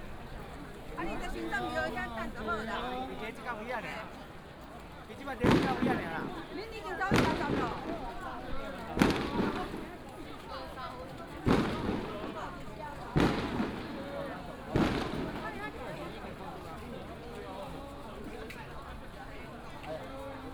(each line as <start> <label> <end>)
0.0 Many people gathered in the street 20.5
0.0 Firecrackers 20.5
5.2 fireworks 20.5